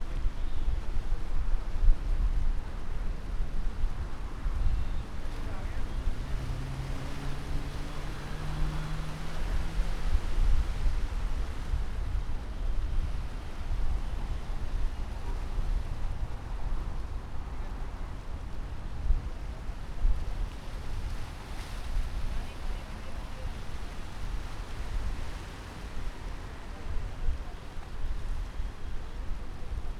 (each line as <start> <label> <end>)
4.1 traffic continued with its rhythm 12.5